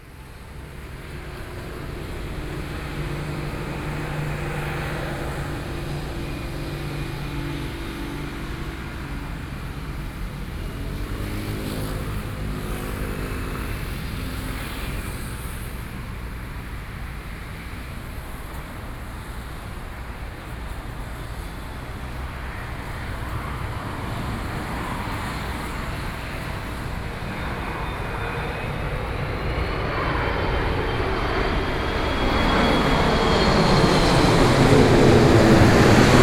Aircraft flying over 0.0 - 36.2

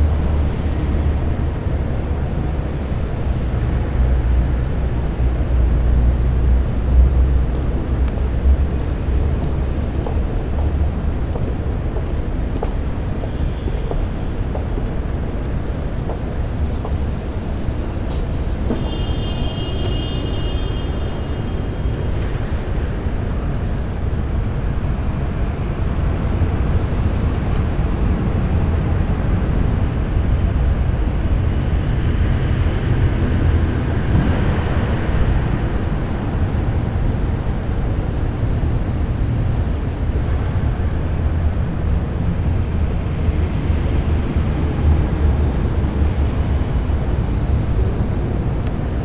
sounds from the streets 0.0 - 49.0

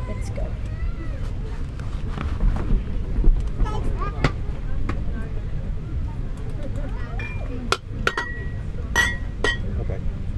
distant traffic 6.9 - 10.3

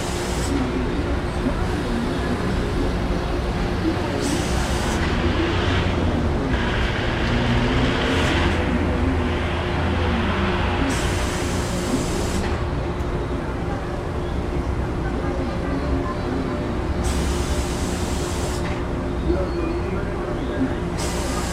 steam machine of the laundry 0.0 - 0.6
cars 0.0 - 21.5
steam machine of the laundry 10.9 - 12.6
steam machine of the laundry 17.0 - 18.8
steam machine of the laundry 21.0 - 21.5

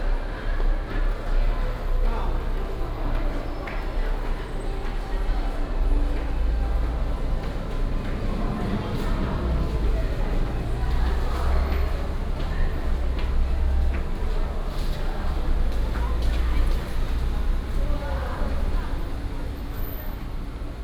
Traffic Sound 0.0 - 20.8

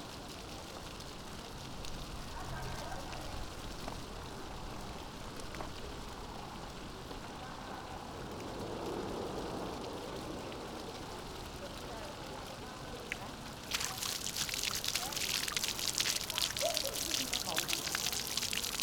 Intermittent fountain 0.0 - 18.8

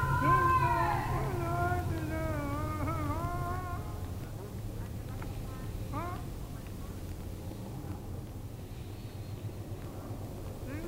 voices of a man singing 0.0 - 4.4
distant voice repeatively shouting 0.0 - 8.0
voices of a man singing 5.9 - 6.4
distant voice repeatively shouting 9.8 - 10.8
voices of a man singing 10.6 - 10.8

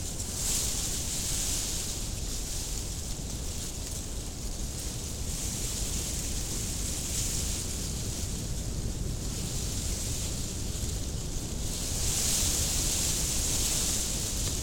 very strong wind 0.0 - 14.6

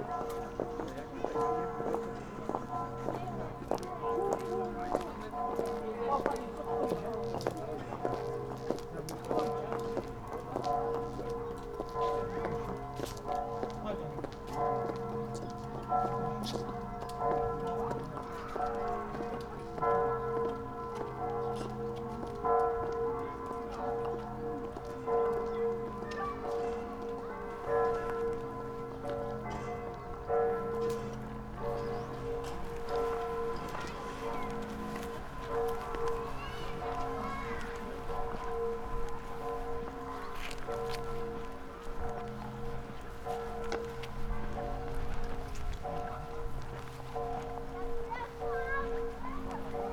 village bells 0.0 - 49.9
children 14.9 - 42.7
voices 33.3 - 37.9
children 43.3 - 49.9
voices 47.2 - 49.9

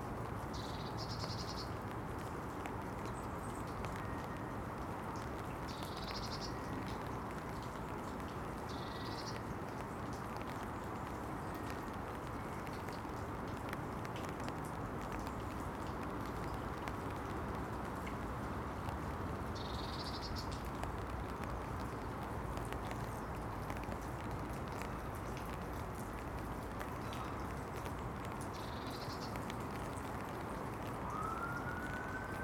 The rain falls 0.0 - 32.4

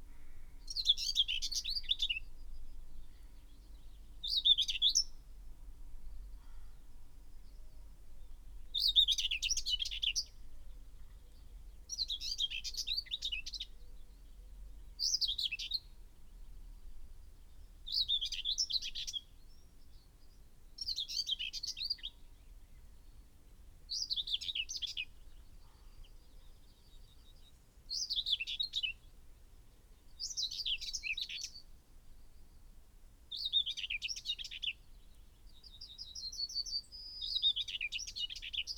blackbird 0.0 - 5.2
blackbird 6.2 - 16.4
crow 6.4 - 6.8
blackbird 17.5 - 23.2
blackbird 23.9 - 29.2
blackbird 30.1 - 31.7
blackbird 33.3 - 38.7

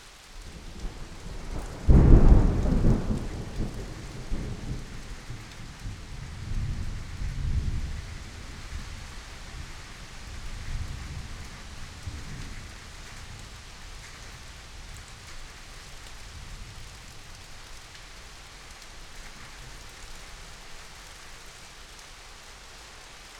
Rain 0.0 - 23.3
Thunderstorm 0.5 - 15.4

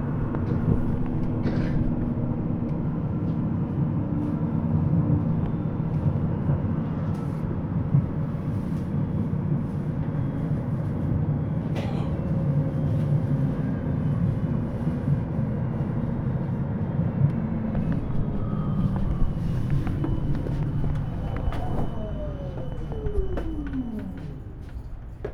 Tram ride 0.0 - 25.3

